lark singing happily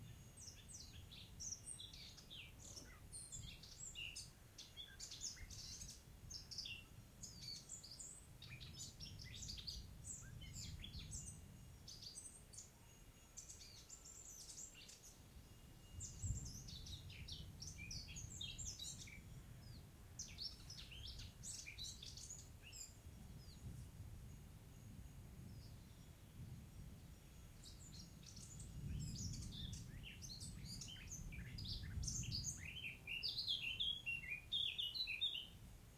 28.4s 35.6s

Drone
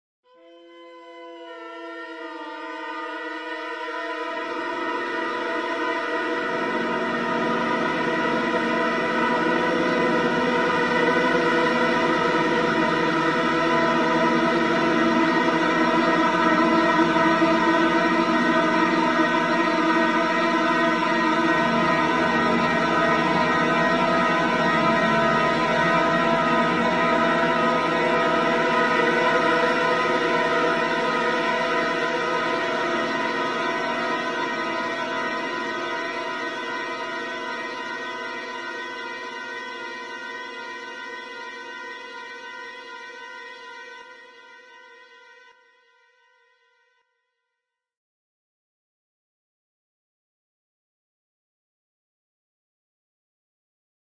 0.9s 43.7s

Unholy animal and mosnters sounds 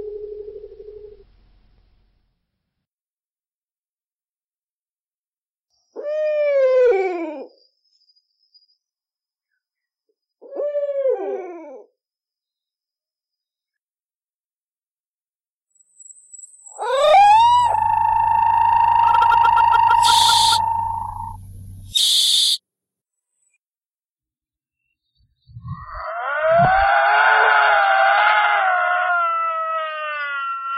16.7s 22.6s, 24.8s 30.7s

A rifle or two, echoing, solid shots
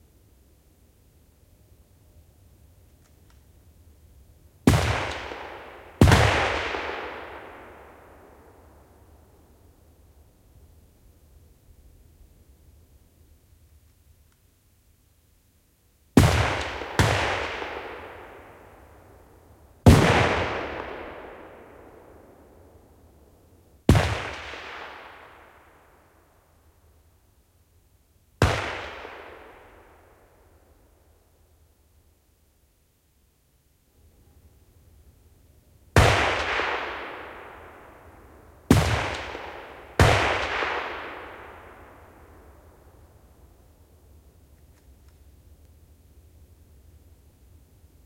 4.7s 8.8s, 16.2s 19.1s, 19.8s 22.6s, 23.9s 26.1s, 28.4s 30.4s, 36.0s 42.8s

